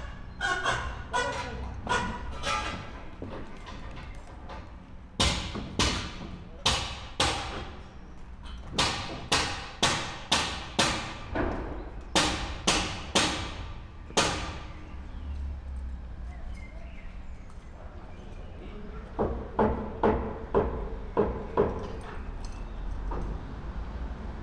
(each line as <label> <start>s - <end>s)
construction work 0.0s - 24.4s